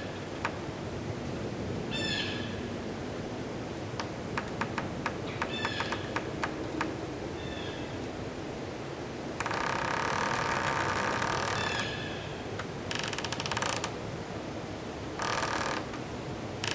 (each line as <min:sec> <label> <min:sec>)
0:03.7 creeky pine 0:16.7